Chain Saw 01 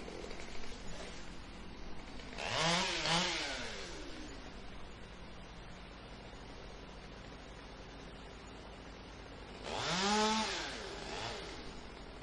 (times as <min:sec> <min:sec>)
0:00.0 0:01.4, 0:02.1 0:04.3, 0:09.5 0:12.1